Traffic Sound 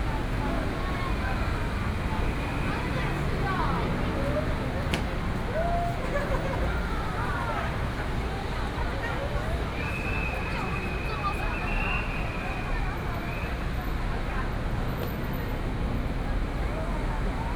0.0 8.8

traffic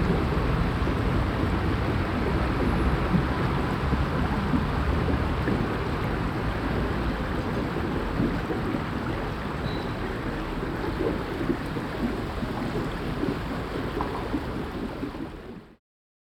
0.0 11.2

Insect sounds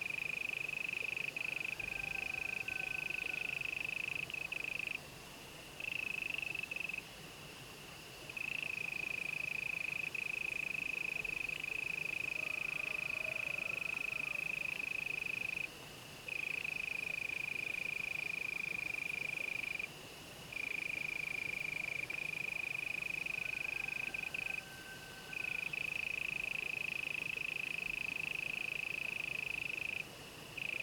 14.2 30.8

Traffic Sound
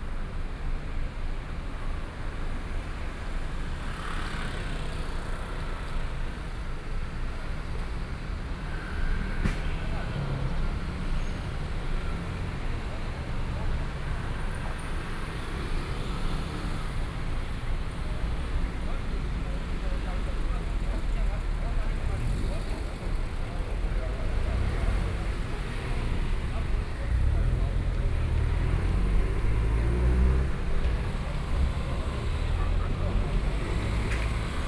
7.6 34.6

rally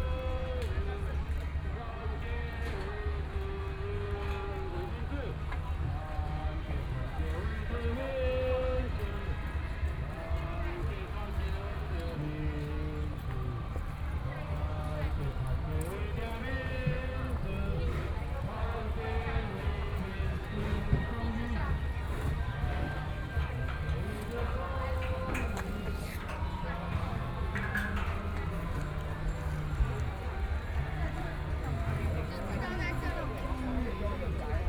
7.4 34.6

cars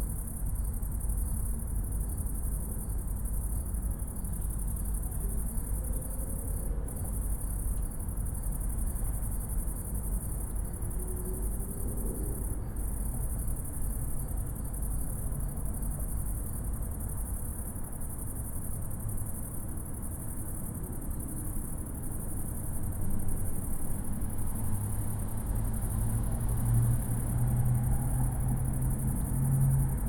23.6 30.0

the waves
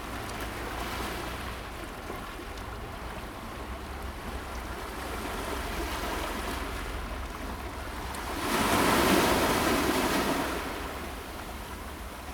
4.8 12.3

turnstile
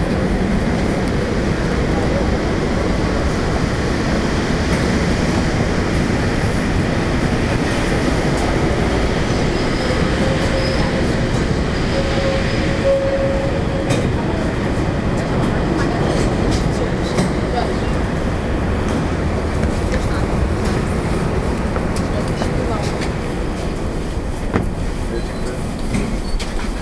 13.8 18.2, 18.8 26.8

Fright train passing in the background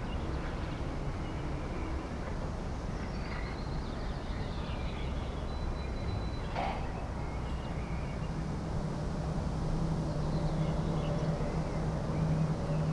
6.6 12.9

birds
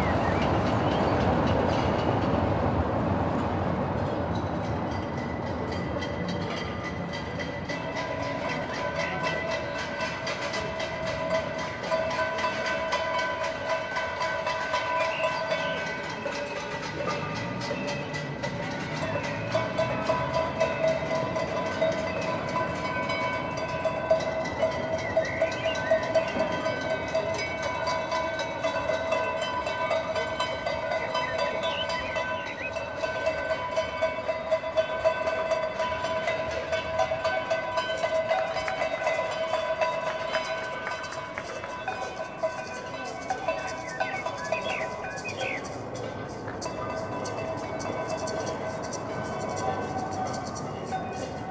14.8 16.4, 24.8 26.9, 30.9 33.3, 43.0 46.1

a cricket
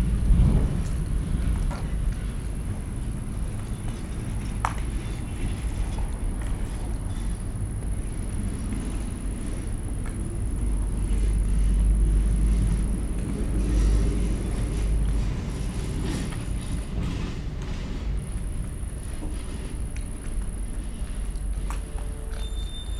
18.3 22.9

